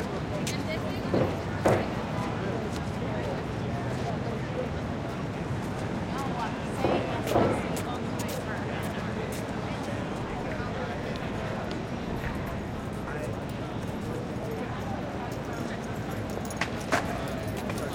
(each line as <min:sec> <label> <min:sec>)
0:00.0 traffic 0:17.9
0:00.4 clack and roll of skate boards 0:02.8
0:13.8 clack and roll of skate boards 0:17.9